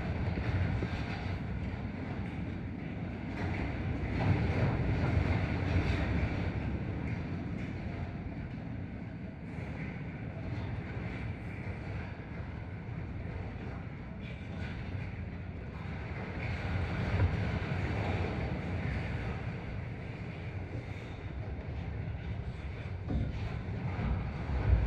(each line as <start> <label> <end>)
0.0 fence in the wind 24.8